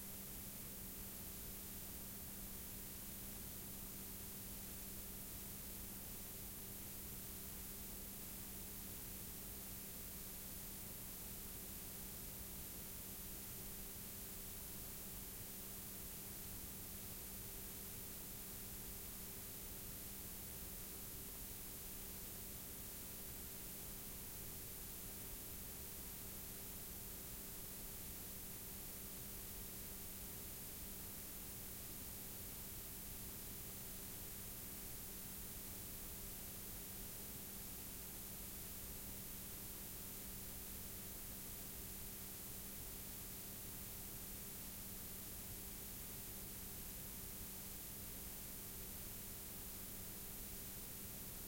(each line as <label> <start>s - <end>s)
Background noise of a blank k7 tape 0.0s - 51.4s